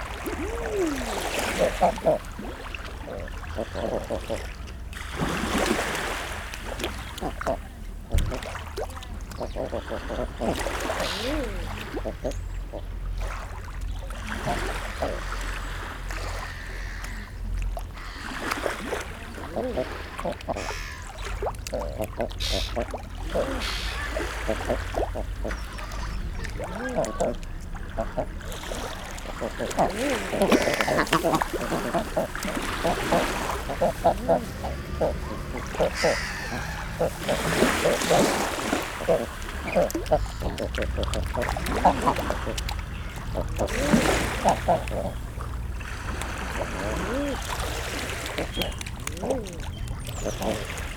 0.2s male and female calls 2.2s
10.4s male and female calls 12.3s
18.0s calls from herring gulls 18.6s
18.0s black-headed gulls 18.7s
19.5s black-headed gulls 45.4s
19.5s calls from herring gulls 45.4s
29.4s male and female calls 40.7s

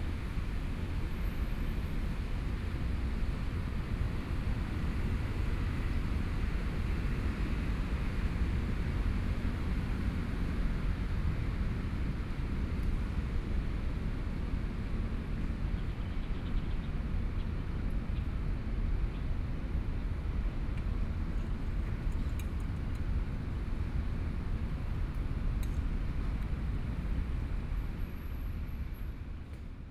14.4s Traffic Sound 29.9s

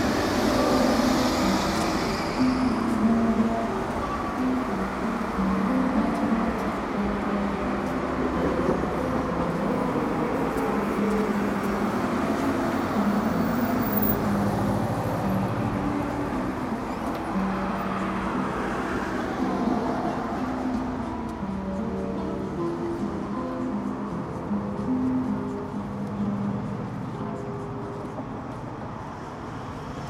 0.0s guitar through cheap amplifier 28.9s
0.0s streetcars 30.0s
0.0s traffic 30.0s

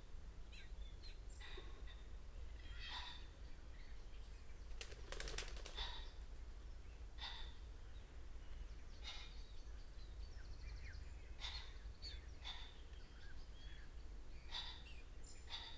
6.8s blackbird 15.7s
9.0s red-legged partridge 15.7s

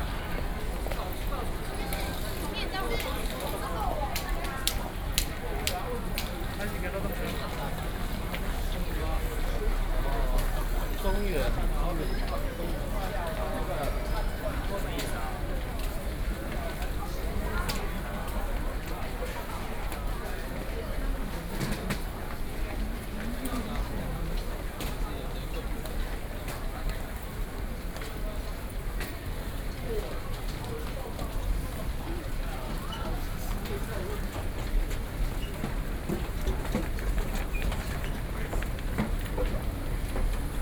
0.0s walking into the Taipei Main Station 40.6s

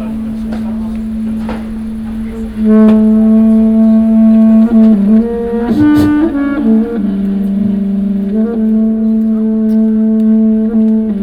0.0s Technicians talking 11.2s
0.0s different instrument sounds 11.2s
0.0s distant audience movements 11.2s
0.0s playing the trumpet 11.2s
5.7s a coughing 6.4s

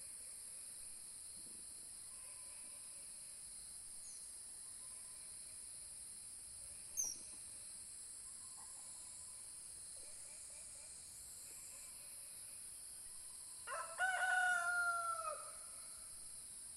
0.0s Song of the night of spotted frogs 16.7s
13.7s sound of the rooster 15.8s

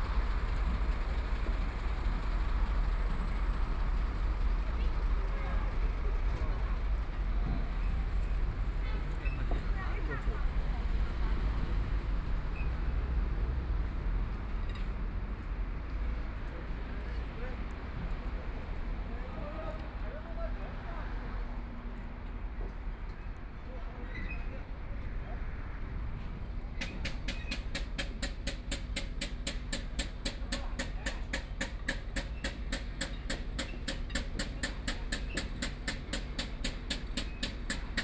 0.0s Traffic Sound 24.0s
24.7s Traffic Sound 38.0s
26.5s Large truck tires are changed 38.0s

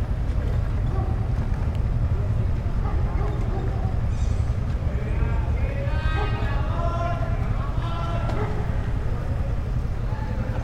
0.0s constant wind 10.6s
0.5s Constant dog barking 4.6s
6.0s Constant dog barking 6.7s
8.2s Constant dog barking 9.3s

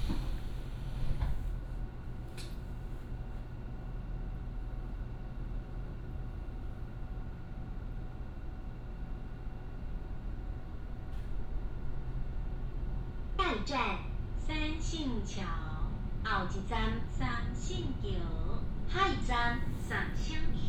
0.0s Train traveling through 1.5s
11.6s Train traveling through 20.6s

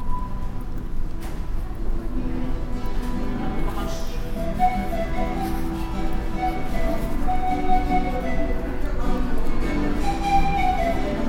0.0s footsteps 11.2s
2.7s street musician playing the obligatory pan pipe 11.2s

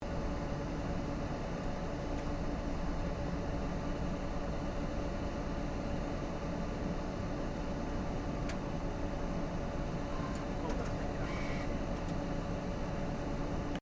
10.0s big printer 12.3s

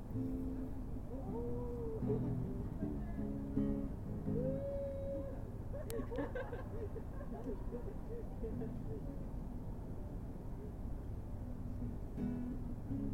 0.0s playing the guitar 5.3s
0.4s Talks by other visitors of the park 11.3s
5.7s young people are laughing 9.0s
11.6s playing the guitar 13.1s

